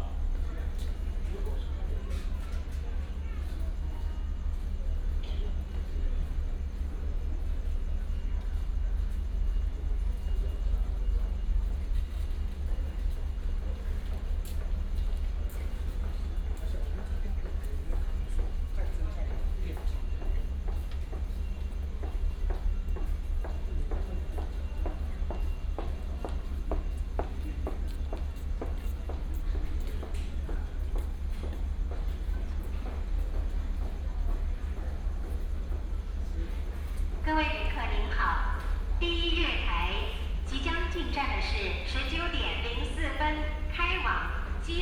Station information broadcast 0:37.2 - 0:44.8

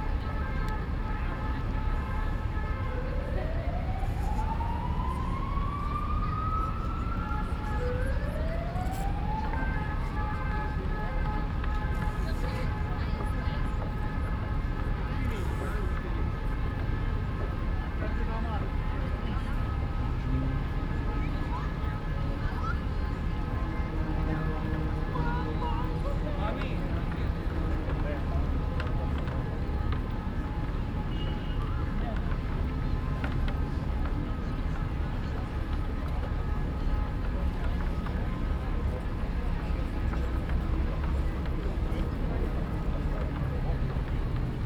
walk 0:18.6 - 0:44.6

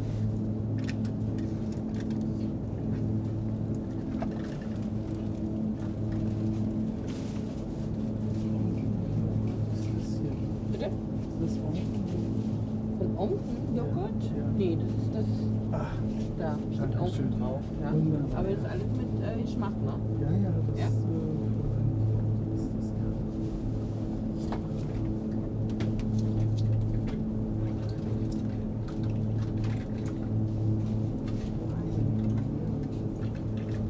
Mournful supermarket fridge 0:15.5 - 0:18.1

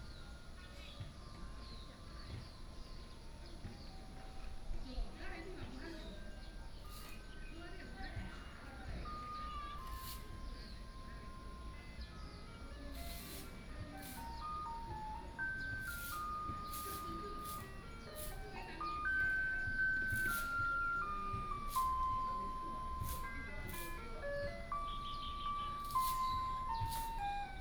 Birdsong sound 0:00.0 - 0:27.6
Traffic Sound 0:08.4 - 0:27.6
Garbage Truck 0:08.4 - 0:27.6

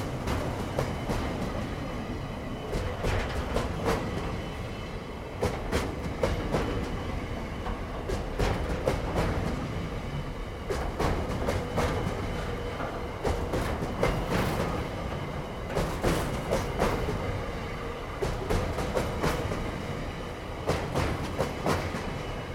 Freight Train Rolling Past 0:00.0 - 0:22.5

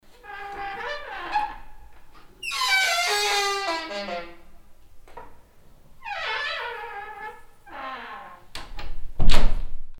queeking wooden door 0:00.1 - 0:04.6
queeking wooden door 0:06.0 - 0:09.5

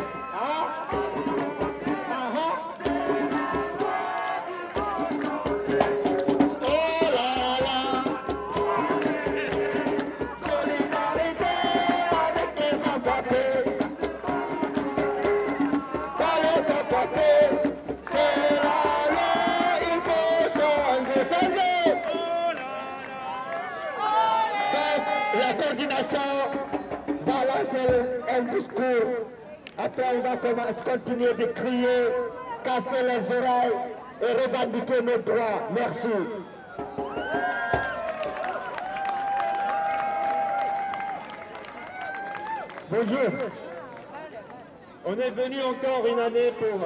protest 0:00.0 - 0:46.8

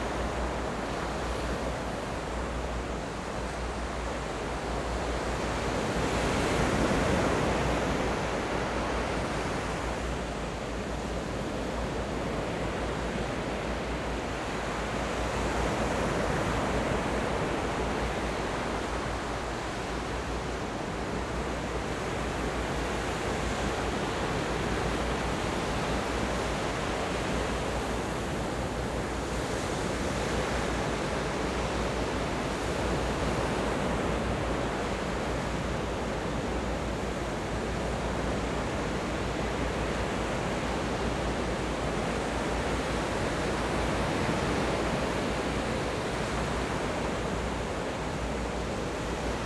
waves 0:00.0 - 0:49.4

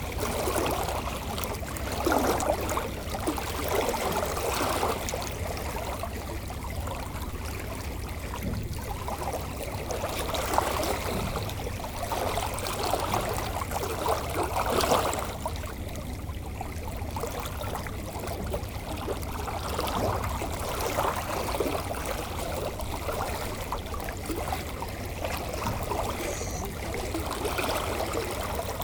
empty Container ship going to the harbour 0:00.0 - 0:28.8
water flowing 0:00.0 - 0:28.8

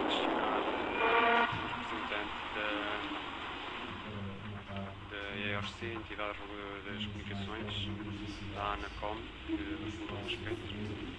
FM radio 0:00.0 - 0:11.1

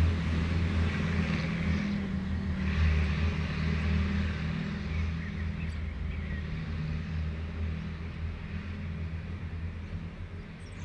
vehicles driving around the park 0:00.0 - 0:10.8
birds 0:04.6 - 0:08.6
birds 0:09.6 - 0:10.8

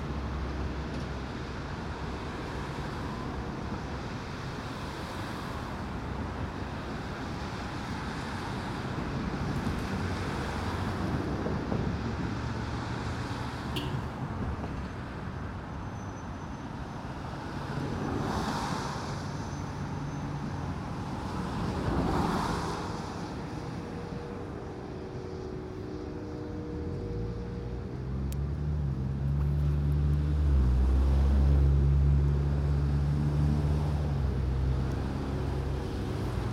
heavy traffic 0:00.0 - 0:36.5

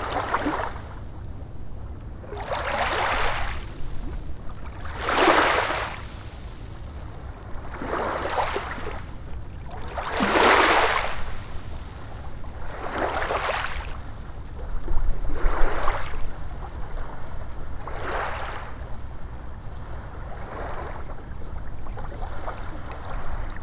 sloshing waves over pebbles 0:02.4 - 0:14.0

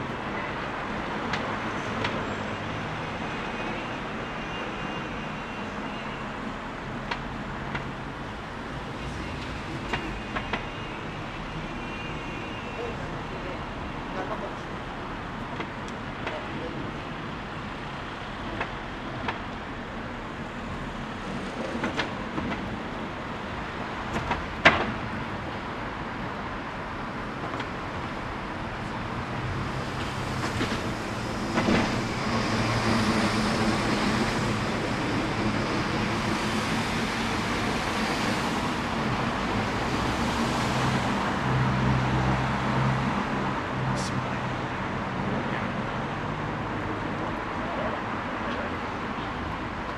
vehicle traffic 0:00.0 - 0:49.9
many passerby 0:43.6 - 0:49.9

